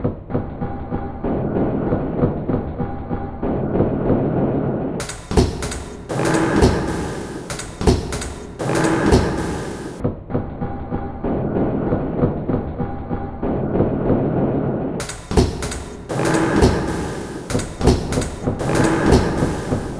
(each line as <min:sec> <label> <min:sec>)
0:05.3 Drum 0:10.0
0:15.4 Drum 0:19.9